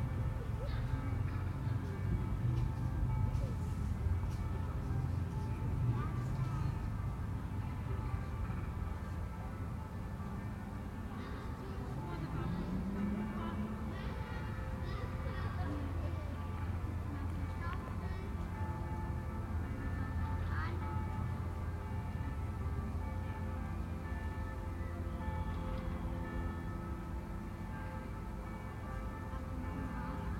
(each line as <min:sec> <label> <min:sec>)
0:00.0 children play 0:04.9
0:00.0 bells sounding this lovely green courtyard 0:30.3
0:11.0 children play 0:22.0
0:11.1 voices 0:18.8